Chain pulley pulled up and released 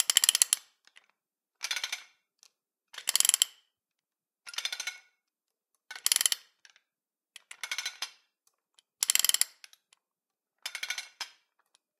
0.0 0.6, 3.0 3.6, 5.9 6.5, 9.0 9.6

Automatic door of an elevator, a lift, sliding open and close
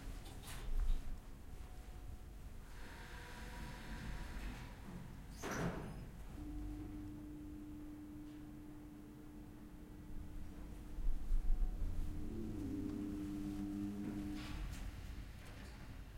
2.8 8.8, 10.4 16.1

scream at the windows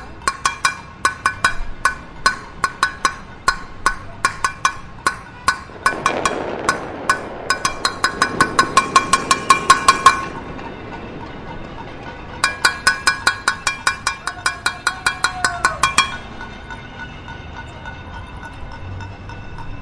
14.2 16.2

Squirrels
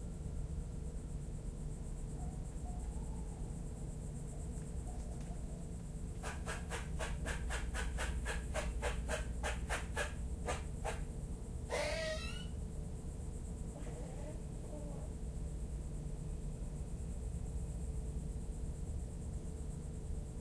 4.3 11.1, 11.7 12.6

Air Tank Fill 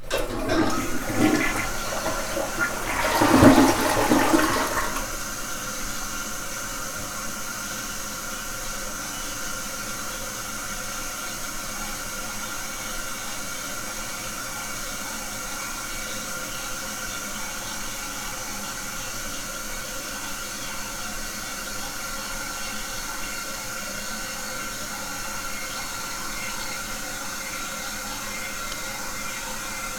0.0 5.6

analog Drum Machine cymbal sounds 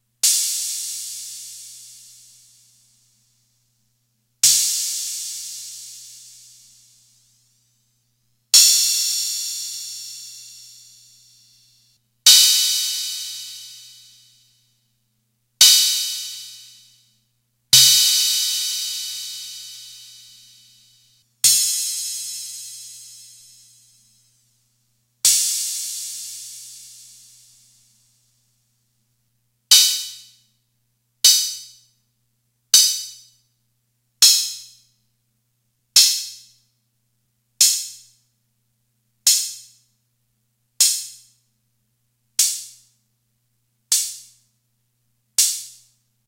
0.2 2.8, 4.4 7.3, 8.6 11.7, 12.3 14.3, 15.6 16.9, 17.8 24.1, 25.3 27.7

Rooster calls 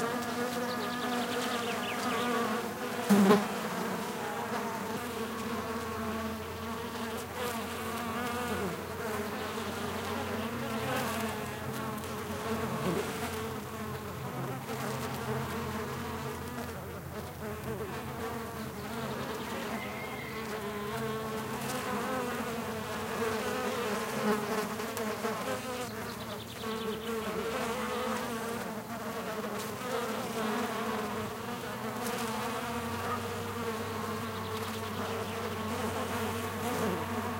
19.4 21.3

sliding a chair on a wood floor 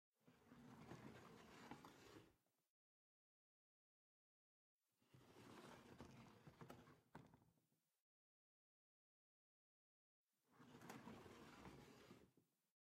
10.7 12.3

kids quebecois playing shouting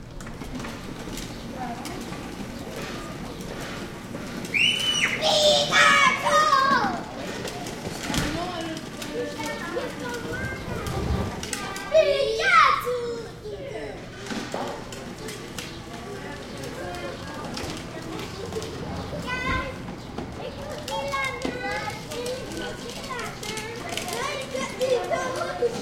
4.4 7.3, 11.5 13.4

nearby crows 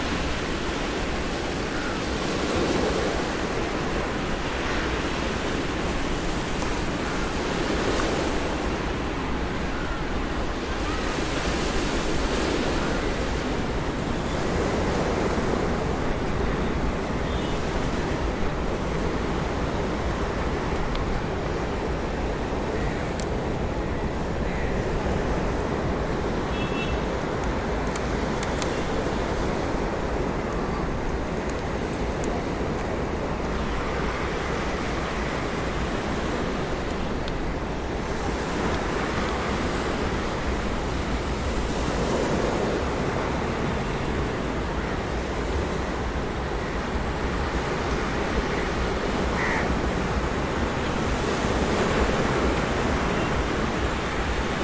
24.4 25.0, 49.3 49.8

